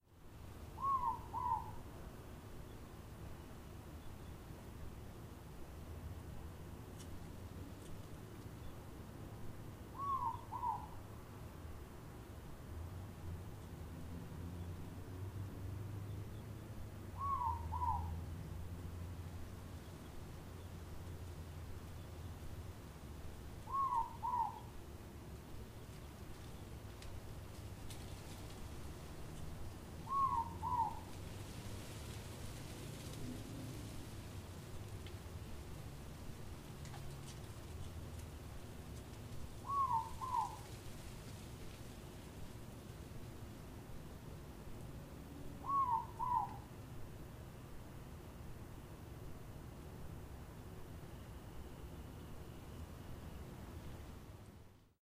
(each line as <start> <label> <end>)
0.0 leaves of a big oak tree rustling in the wind 55.0